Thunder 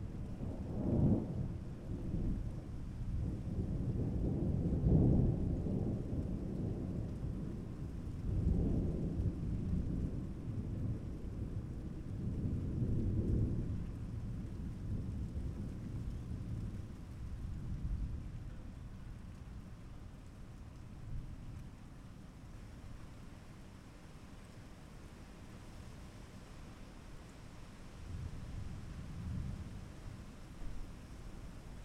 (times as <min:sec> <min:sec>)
0:00.4 0:18.4